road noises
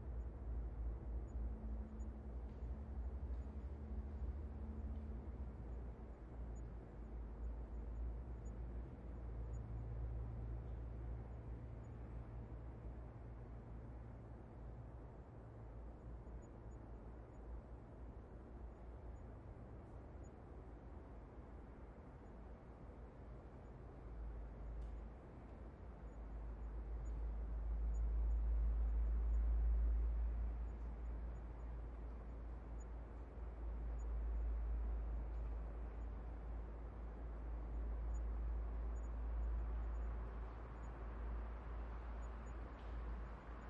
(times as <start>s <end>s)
23.7s 43.6s